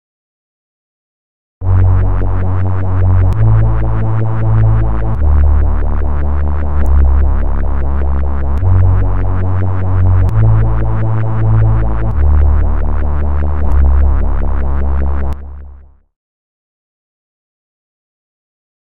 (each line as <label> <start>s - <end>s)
Short bass made with triple oscillator synth 1.6s - 16.1s